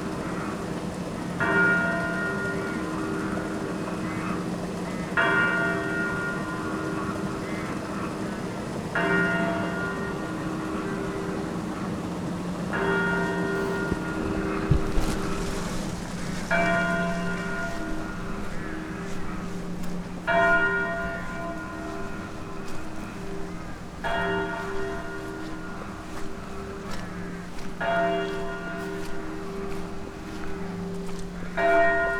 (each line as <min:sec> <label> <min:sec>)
0:00.0 funeral bells of local church 0:32.1
0:00.1 crows 0:00.8
0:02.2 crows 0:11.9
0:12.8 crows 0:32.1